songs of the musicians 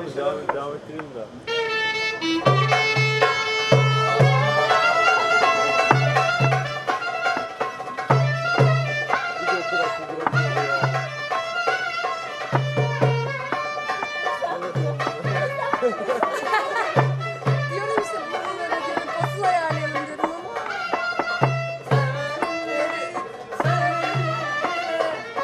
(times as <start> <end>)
20.1 25.4